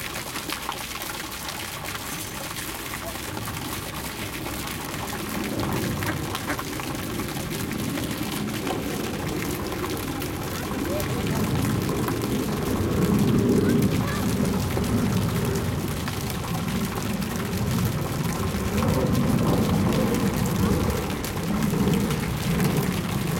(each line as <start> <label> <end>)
0.0 Water 23.3